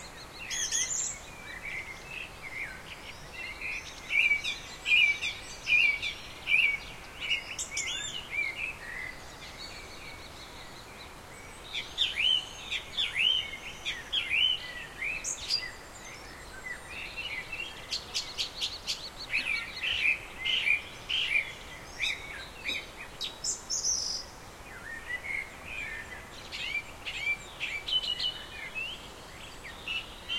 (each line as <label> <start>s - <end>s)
wind in trees 0.0s - 30.3s